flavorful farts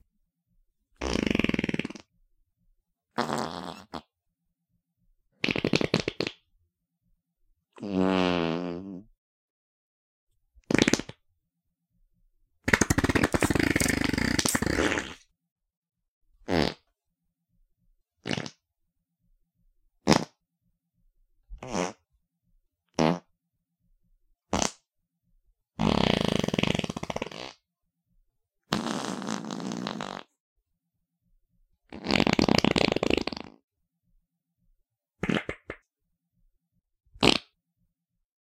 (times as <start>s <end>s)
1.0s 2.1s, 3.1s 4.1s, 5.4s 6.4s, 7.8s 9.1s, 10.6s 11.2s, 12.6s 15.3s, 16.4s 16.9s, 18.2s 18.6s, 20.0s 20.4s, 21.6s 22.1s, 22.9s 23.3s, 24.5s 24.8s, 25.8s 27.6s, 28.7s 30.4s, 31.9s 33.6s, 35.2s 35.8s, 37.2s 37.6s